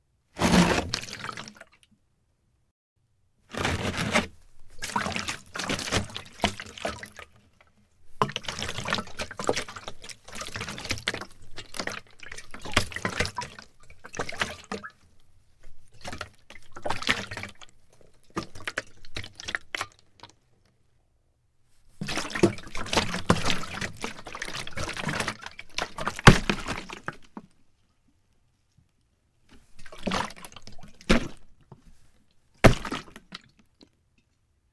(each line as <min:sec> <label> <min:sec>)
0:00.4 plastic gas container full heavy pickup scrape 0:01.2
0:03.5 plastic gas container full heavy pickup scrape 0:05.0